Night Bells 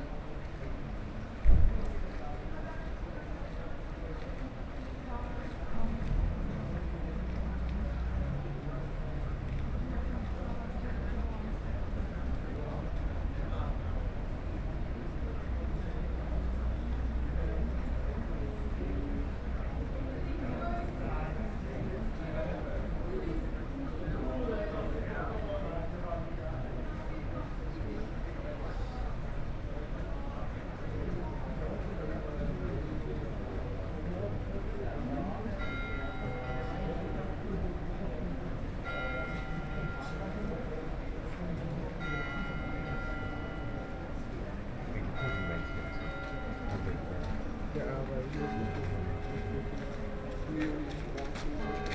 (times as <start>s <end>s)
38.6s 41.1s, 41.9s 51.9s